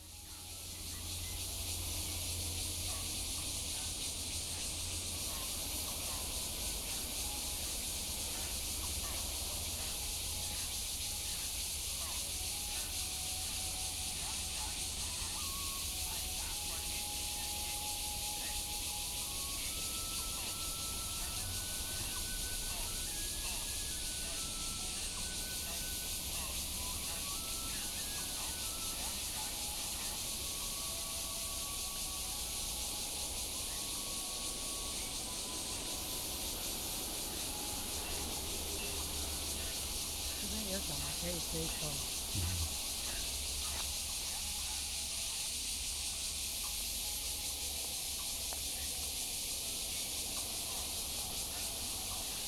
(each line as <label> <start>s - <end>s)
Cicadas cry 0.0s - 52.4s
elderly people doing exercise 40.4s - 42.9s